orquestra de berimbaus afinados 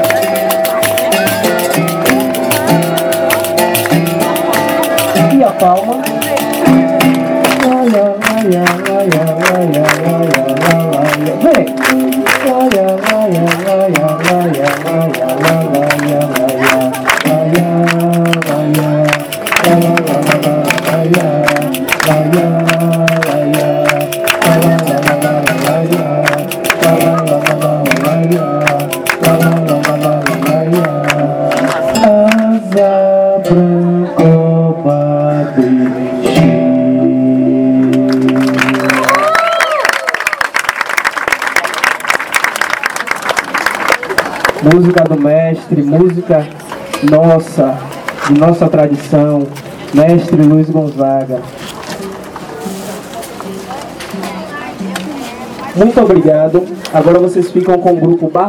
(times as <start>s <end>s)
0.0s 40.5s